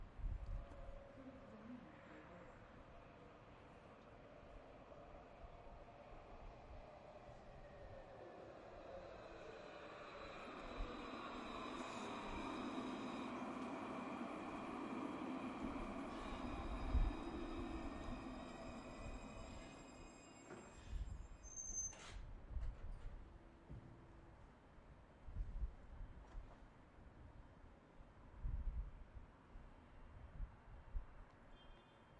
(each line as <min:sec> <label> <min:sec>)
0:00.6 Tram Arriving and Departing 0:22.1